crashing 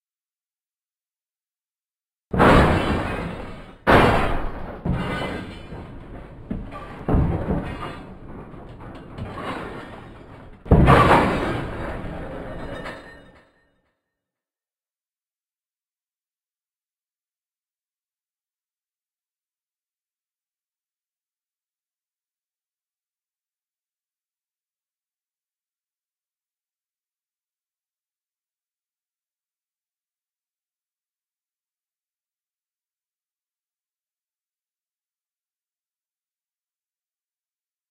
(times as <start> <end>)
2.4 13.6